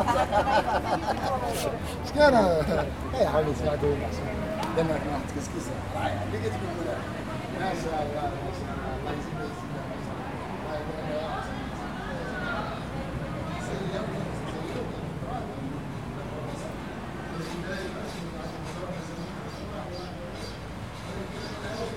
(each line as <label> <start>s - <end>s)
bustling, colourful, friendly flea market 0.0s - 21.9s